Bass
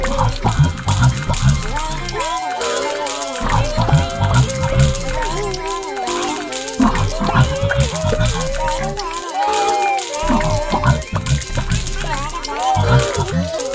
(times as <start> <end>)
0.0 2.2, 3.4 5.7, 6.8 9.1, 10.2 13.6